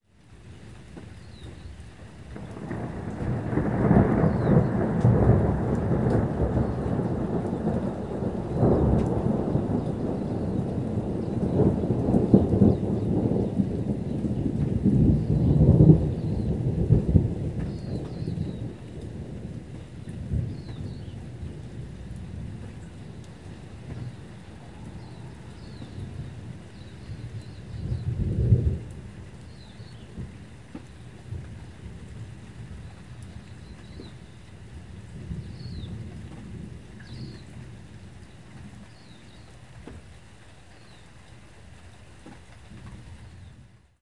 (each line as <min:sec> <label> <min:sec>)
0:00.0 light rain 0:44.0
0:00.4 birds tweeting 0:02.8
0:02.3 thunder 0:34.3
0:03.4 birds tweeting 0:05.0
0:06.2 birds tweeting 0:19.1
0:20.0 birds tweeting 0:28.6
0:29.4 birds tweeting 0:30.2
0:33.2 birds tweeting 0:36.1
0:35.0 thunder 0:40.1
0:37.0 birds tweeting 0:37.6
0:38.2 birds tweeting 0:39.6
0:40.7 birds tweeting 0:41.2